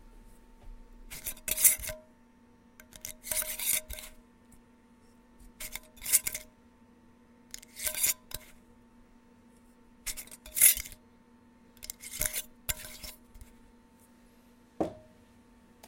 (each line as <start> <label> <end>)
1.1 Unscrewing and screwing on a lid to a mason jar 2.0
2.8 Unscrewing and screwing on a lid to a mason jar 4.2
5.6 Unscrewing and screwing on a lid to a mason jar 6.5
7.5 Unscrewing and screwing on a lid to a mason jar 8.5
10.1 Unscrewing and screwing on a lid to a mason jar 11.0
11.8 Unscrewing and screwing on a lid to a mason jar 13.5